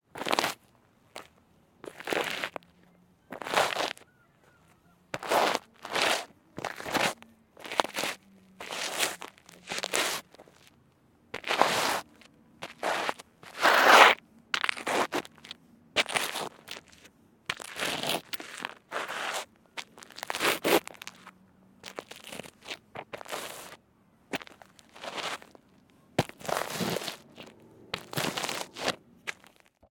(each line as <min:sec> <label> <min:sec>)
0:00.2 Male footsteps in trainers scraping against gravel 0:02.7
0:03.3 Male footsteps in trainers scraping against gravel 0:04.0
0:05.1 Male footsteps in trainers scraping against gravel 0:10.7
0:11.4 Male footsteps in trainers scraping against gravel 0:25.6
0:26.2 Male footsteps in trainers scraping against gravel 0:29.8